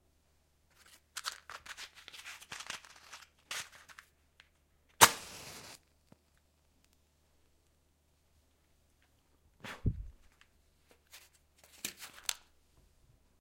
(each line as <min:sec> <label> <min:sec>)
0:05.0 Lights a candle light with a match 0:05.8